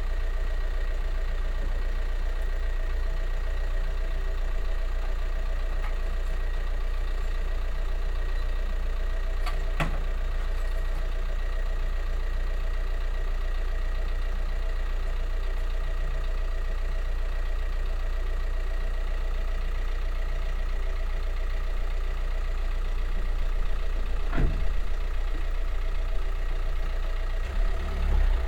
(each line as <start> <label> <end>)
0.0 post car arrives and stands with running engine 28.4
23.6 car drives away 28.4
23.8 tractor passing by 28.4